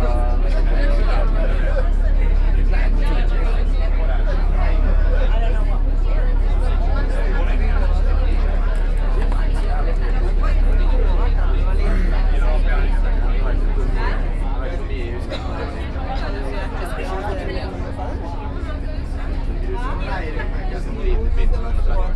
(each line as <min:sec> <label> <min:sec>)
0:00.0 boat 0:22.1
0:00.0 sea 0:22.1